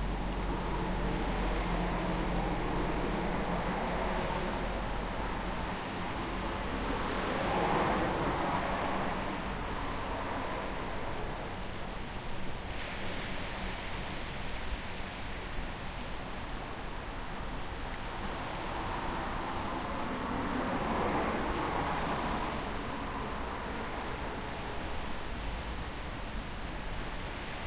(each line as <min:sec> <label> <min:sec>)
0:00.0 regular traffic 0:27.6